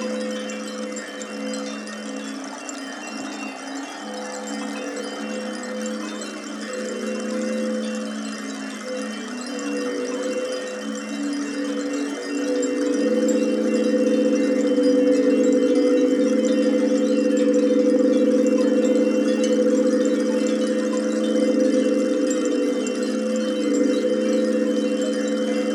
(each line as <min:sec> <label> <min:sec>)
0:00.0 clay aeolian ocarinas 0:25.7